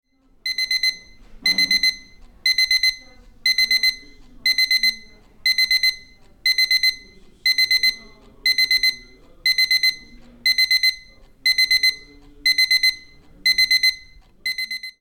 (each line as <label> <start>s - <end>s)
quart clock with standard beep 0.1s - 15.0s